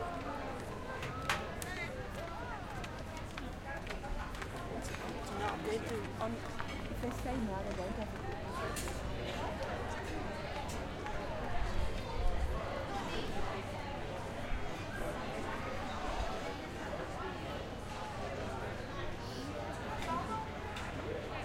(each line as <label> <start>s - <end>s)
People chatting and eating 0.0s - 21.4s